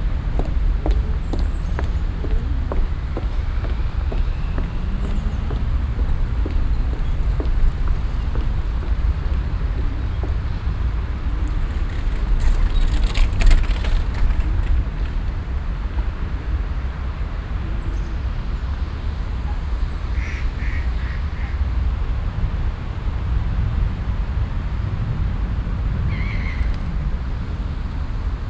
0.1s radfahrer passieren 16.4s

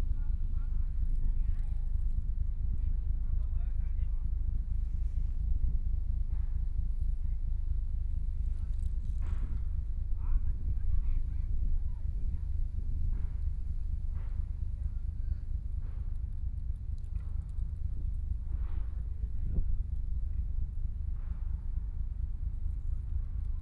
0.0s river running through many ships 23.6s

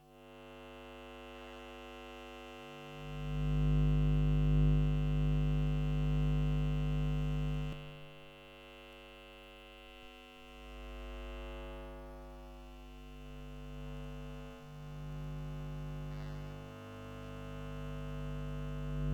0.3s electro-magnetic emissions of different electronic devices 19.1s

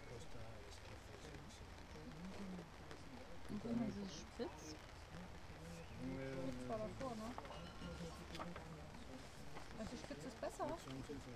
0.0s human voices talking to each other leisurely 11.3s

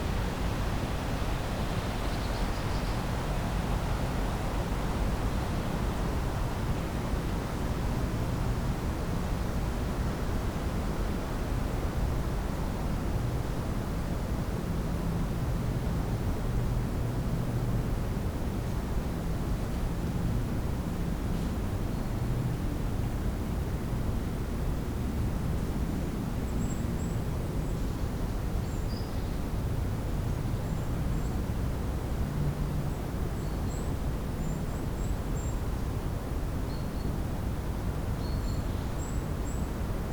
0.0s trees swaying in the wind 40.1s

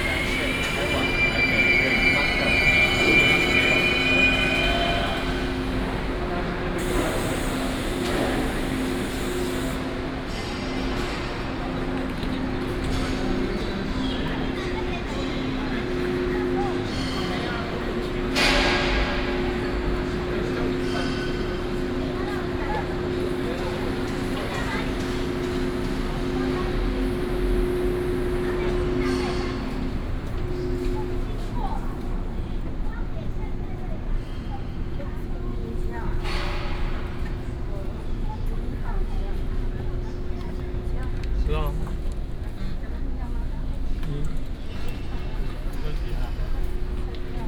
0.0s Construction sound 8.6s

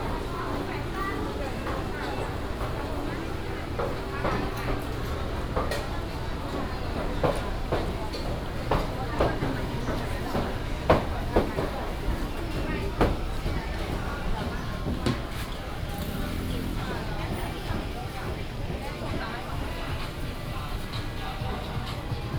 0.0s traffic sound 22.3s

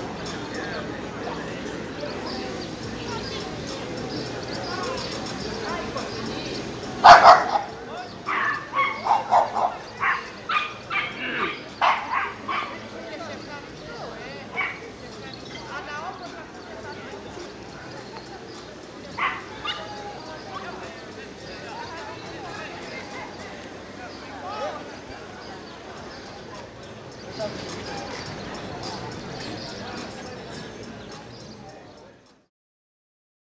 0.0s Music is coming from the nearby coffee shops 24.4s
0.0s People talking 32.5s
7.0s dogs barking 12.9s
19.1s dogs barking 20.0s
25.0s Music is coming from the nearby coffee shops 32.5s

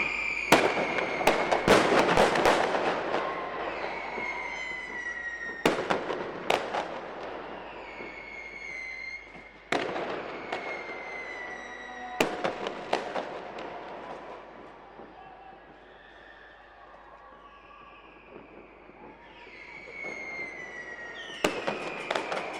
0.0s fireworks close and in the distance 22.5s
13.7s people shounting 19.7s
13.9s kids yelling 18.2s

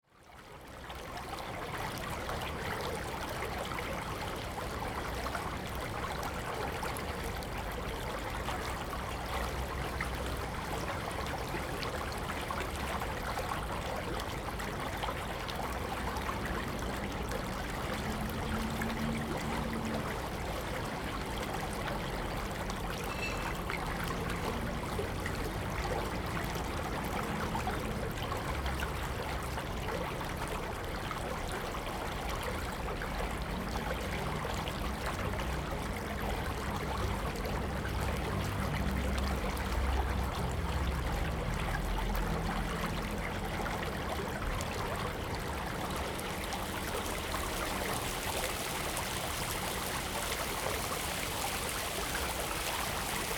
0.0s Stream 53.3s
0.8s Drainage channel 53.3s
38.0s Traffic Sound 53.3s

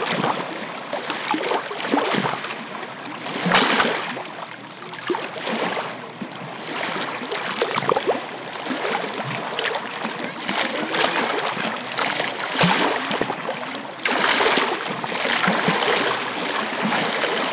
0.0s Waves crashing 4.4s
5.0s Waves crashing 17.5s
8.7s people talking in the distance 17.5s

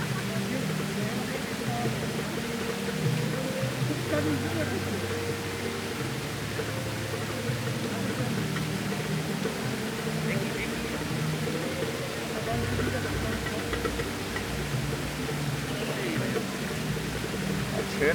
0.0s Arabic drumming 18.1s
0.0s Tourists from all nations still group here, sitting around the edge, chatting 18.1s
0.0s classical music 18.1s
0.0s fountain water fizzes 18.1s

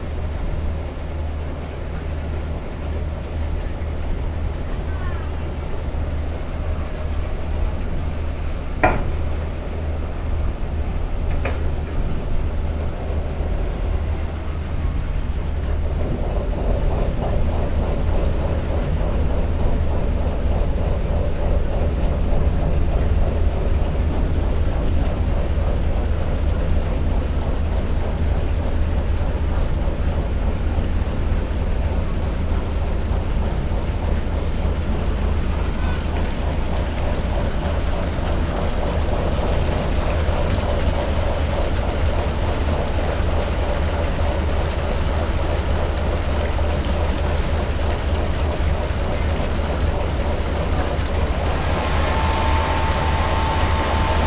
0.0s departure of ship 54.2s

